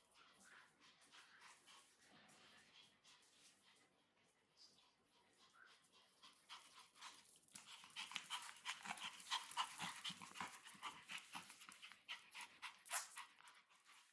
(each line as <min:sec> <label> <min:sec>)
0:05.3 Chihuahua playing and barking 0:14.1